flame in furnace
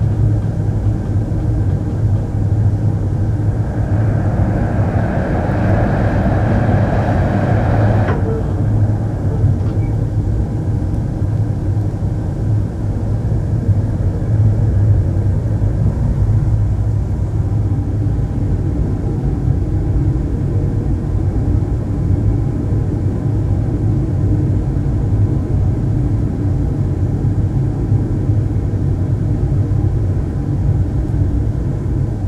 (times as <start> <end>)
0.1 12.7